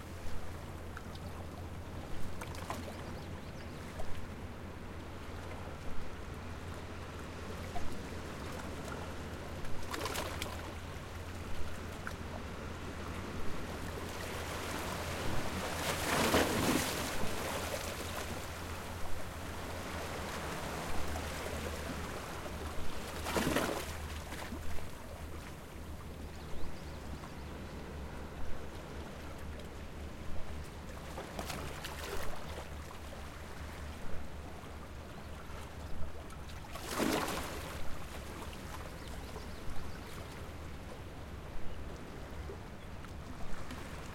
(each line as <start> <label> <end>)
14.2 Ocean water crashing and splashing between rocks 18.4
36.7 Ocean water crashing and splashing between rocks 38.2